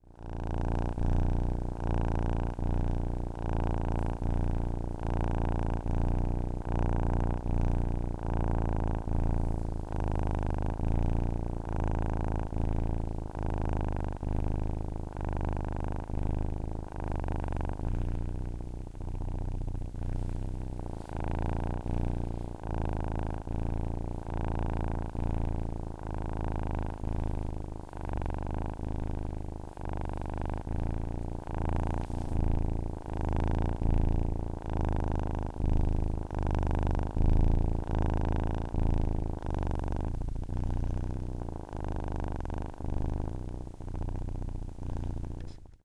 Cat purring 0:00.0 - 0:45.8

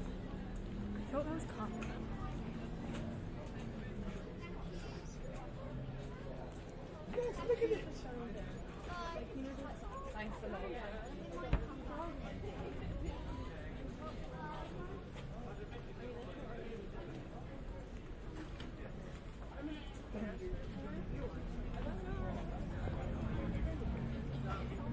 people 0:00.0 - 0:24.9

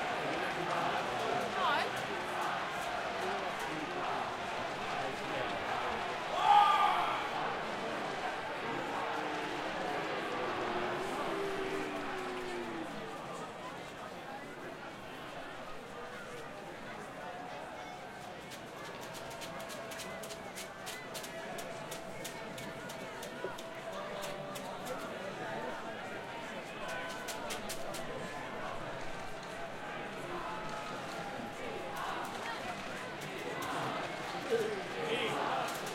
crowd 0:00.0 - 0:35.9
shouting 0:06.3 - 0:07.5

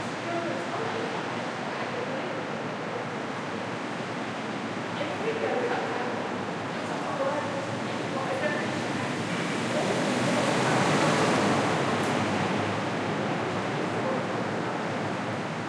conversations 0:00.0 - 0:15.6
cars 0:06.3 - 0:15.6

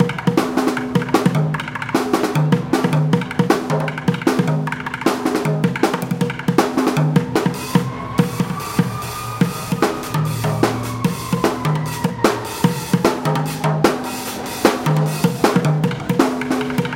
drummer playing beat on buckets 0:00.0 - 0:16.9

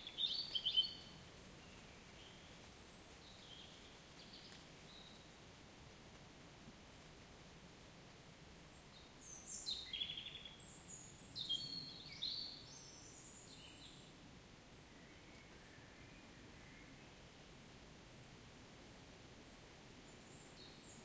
birds 0:00.0 - 0:05.4
birds 0:08.5 - 0:14.2
birds 0:20.0 - 0:21.0

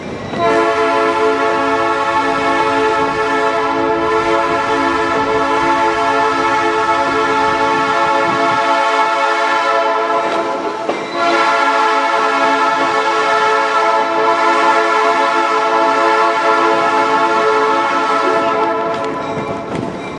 passenger train 0:00.0 - 0:20.1
Train Horn 0:00.4 - 0:19.7
bell 0:19.0 - 0:20.1

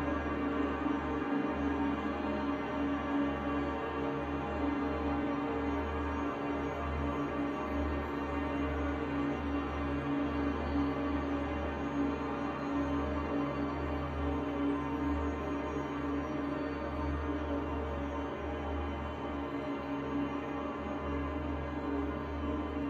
dreamscape drone 0:00.0 - 0:22.8

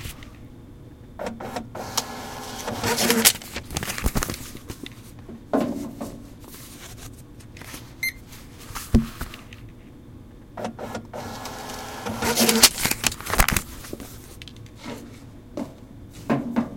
hold receipt being printed 0:01.8 - 0:04.0
books being de-sensitized 0:01.8 - 0:04.8
library books being checked-in 0:01.8 - 0:04.8
hold receipt being printed 0:10.9 - 0:13.7
books being de-sensitized 0:11.2 - 0:14.0
library books being checked-in 0:11.2 - 0:14.2

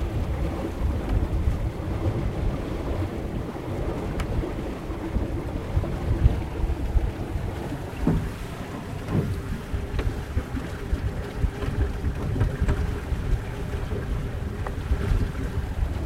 boat is moving through the water 0:00.0 - 0:16.0
steady wind 0:00.0 - 0:16.0
tugs on line 0:00.0 - 0:16.0
wind-filled sails 0:00.0 - 0:16.0
boat parts movement 0:06.1 - 0:15.2

